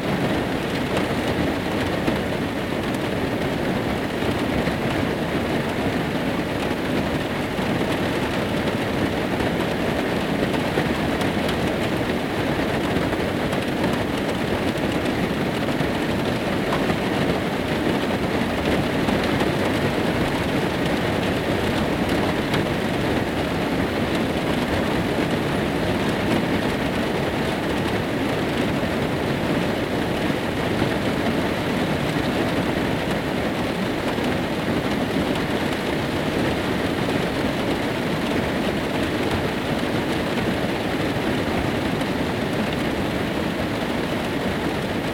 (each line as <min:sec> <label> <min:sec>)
0:00.1 Rain at night inside a van 0:45.1